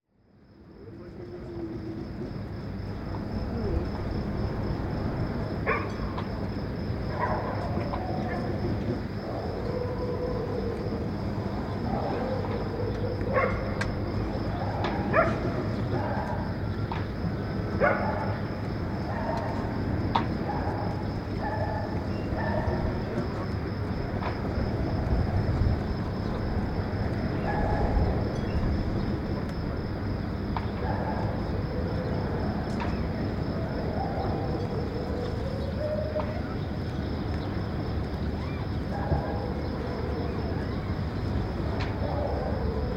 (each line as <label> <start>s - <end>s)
distant dog fight 3.1s - 28.4s
distant dog fight 38.0s - 42.9s